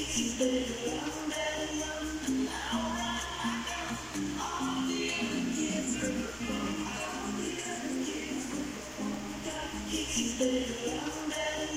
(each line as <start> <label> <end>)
0.0 Music in room playing through Radio 11.7